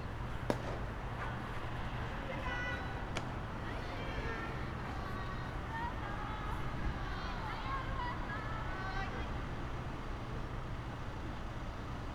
baseball practice game 0:00.0 - 0:09.5

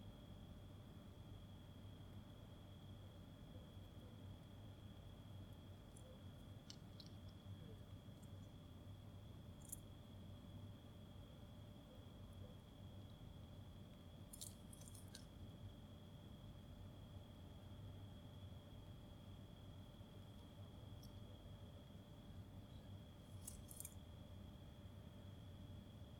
rats, as they get inside and outside the bushes 0:02.2 - 0:25.8

